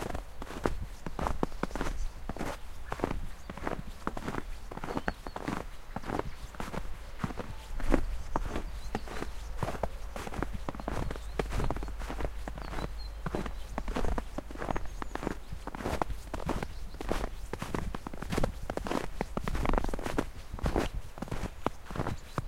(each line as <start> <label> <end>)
0.0 man is walking on the snow road 22.4